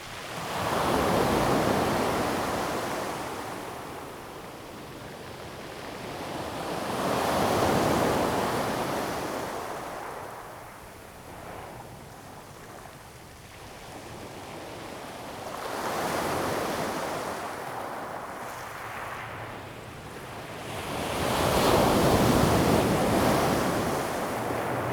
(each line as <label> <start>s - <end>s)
Waves 15.3s - 24.9s